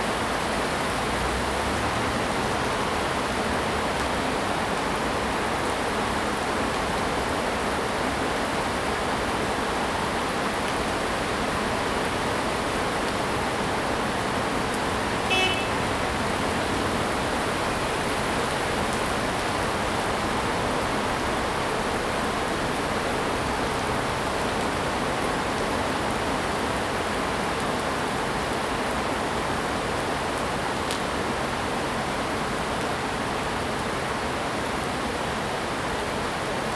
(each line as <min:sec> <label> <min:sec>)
0:00.0 Heavy rain 0:36.7
0:11.4 Traffic Sound 0:24.6